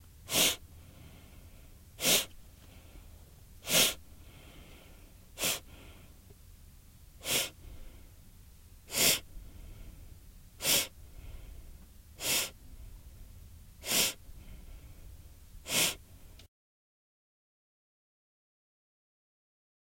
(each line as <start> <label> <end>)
0.3 sniff 1.3
2.0 sniff 2.8
3.6 sniff 6.0
7.2 sniff 7.9
8.9 sniff 9.3
10.6 sniff 11.0
12.2 sniff 12.6
13.8 sniff 14.6
15.6 sniff 16.1